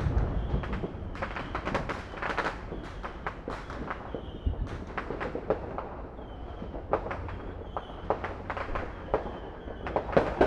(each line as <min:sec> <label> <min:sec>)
0:00.0 fireworks 0:10.4